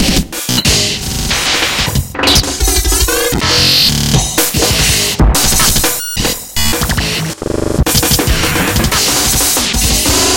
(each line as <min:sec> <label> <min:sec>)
0:00.0 sequenced sections of percussion 0:07.1